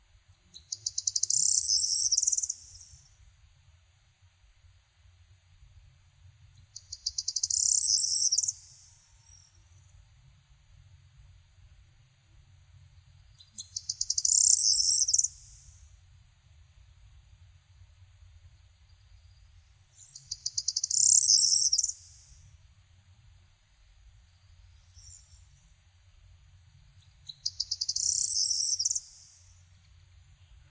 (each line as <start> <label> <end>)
0.4 high pitched song of a corn bunting 3.3
6.5 high pitched song of a corn bunting 10.1
13.0 high pitched song of a corn bunting 16.0
18.5 high pitched song of a corn bunting 22.6
24.2 high pitched song of a corn bunting 25.8
26.8 high pitched song of a corn bunting 30.7